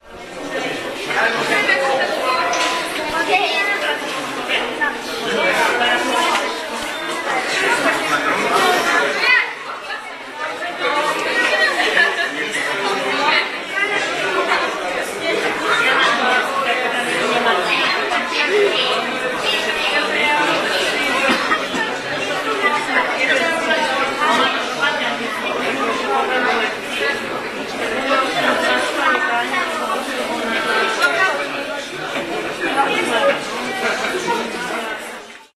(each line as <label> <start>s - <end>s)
crowd of people 0.0s - 35.5s